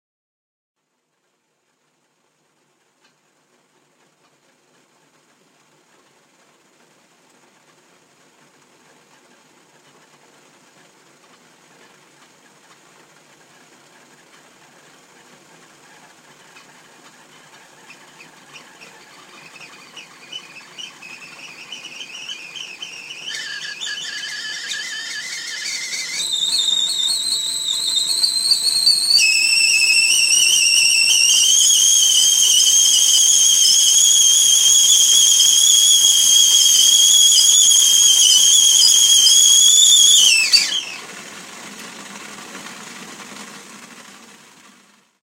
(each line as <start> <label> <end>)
15.8 boiling water 44.6
17.8 Tea kettle coming to full boil whistle 44.5